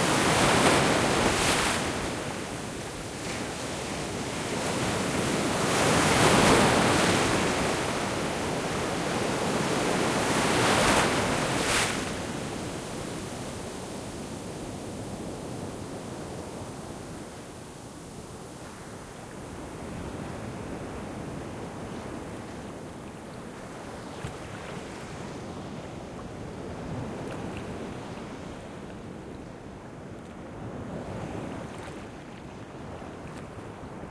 0.0s ocean waves 13.0s

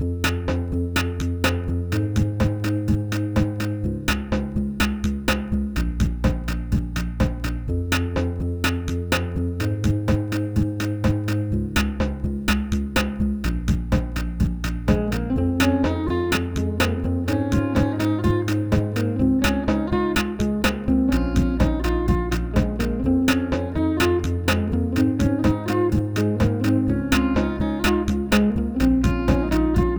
0.2s drum loop 29.9s
14.9s Fender guitar 29.9s

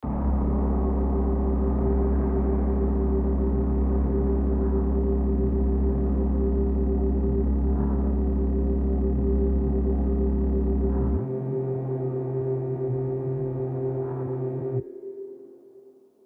0.0s Multi-layered drone sound 16.0s

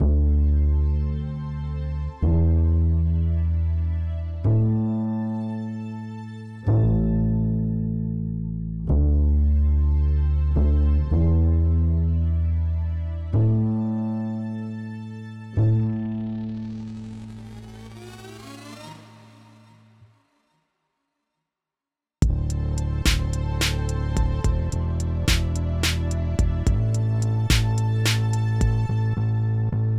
0.0s bass 19.8s
0.0s strings 20.1s
22.2s drums 28.9s
22.2s bass 29.9s
22.2s strings 29.9s

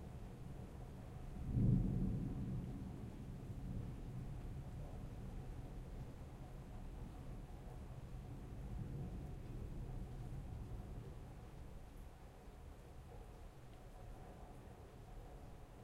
0.0s medium rain 15.8s
1.4s thunder 5.5s

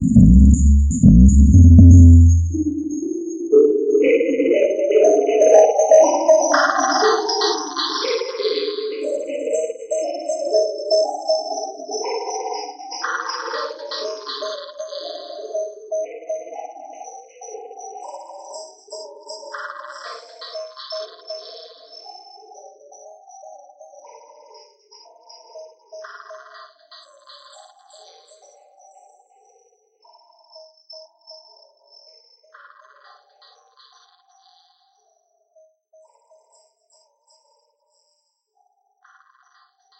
0.0s long spectral delay tail 2.9s

